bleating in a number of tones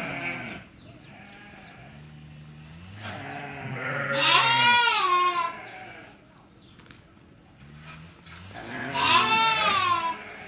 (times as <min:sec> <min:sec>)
0:00.0 0:00.6, 0:01.2 0:02.0, 0:03.0 0:06.2, 0:08.6 0:10.4